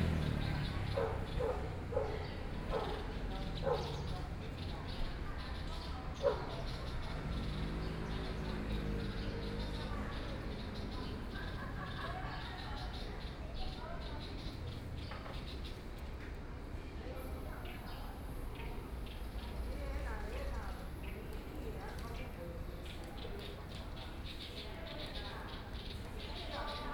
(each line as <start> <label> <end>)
0.0 Birds singing 16.2
0.0 Traffic Sound 26.9
0.0 woman's voice chat 14.8
0.1 Dogs barking 4.4
6.1 Dogs barking 7.6
17.0 Birds singing 26.9
17.1 woman's voice chat 26.9